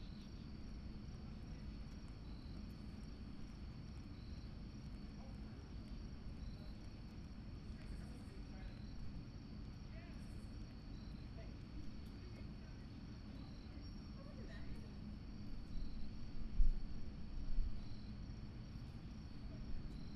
0.0s Crickets are chirping 20.1s

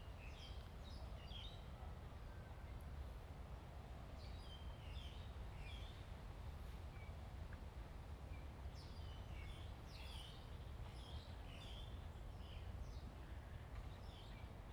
0.0s Wind 14.7s

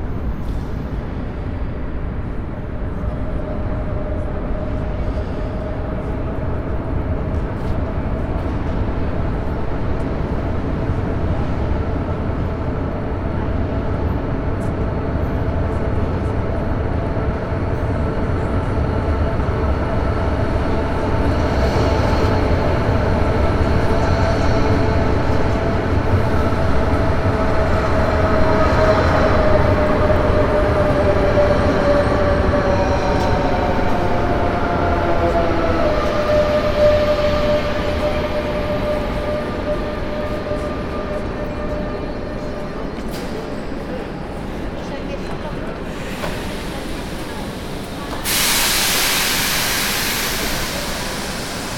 0.0s Train arrival 51.7s

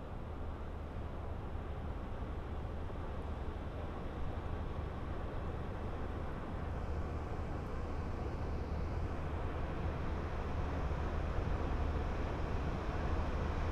0.0s tourist boat is passing by on the Seine river 13.7s

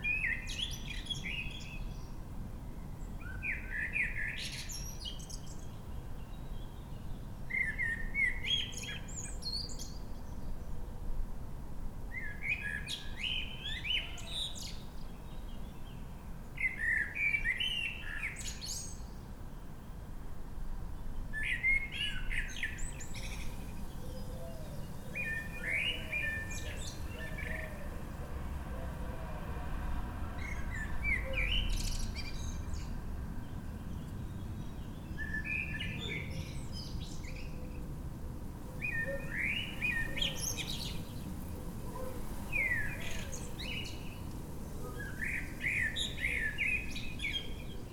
0.0s Blackbird singing 2.1s
3.2s Blackbird singing 10.4s
12.1s Blackbird singing 16.0s
16.6s Blackbird singing 19.2s
21.4s Blackbird singing 27.9s
30.4s Blackbird singing 33.0s
33.8s Blackbird singing 37.8s
38.8s Blackbird singing 41.2s
42.0s Blackbird singing 44.2s
44.8s Blackbird singing 47.9s

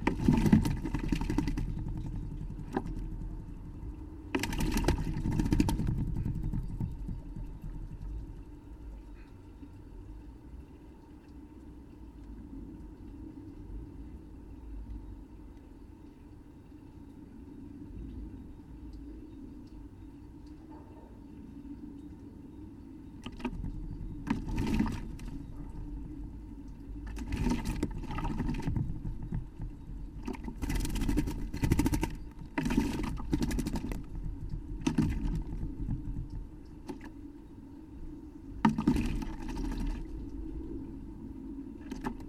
18.3s blackbird bath 40.6s

